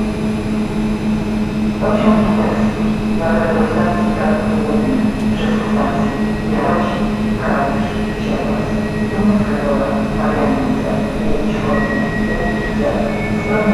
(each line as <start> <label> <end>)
0.0 announcements about trains on different platforms 13.7
0.0 local train idling 13.7